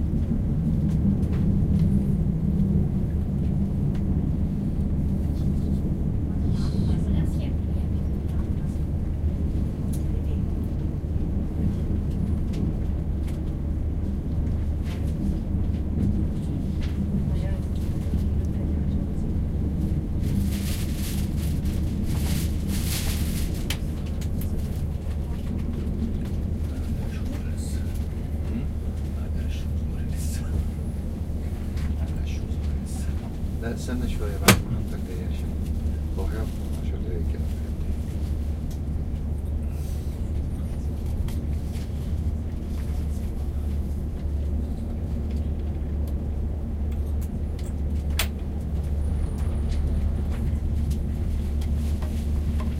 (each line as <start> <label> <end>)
0.0 train ride 52.7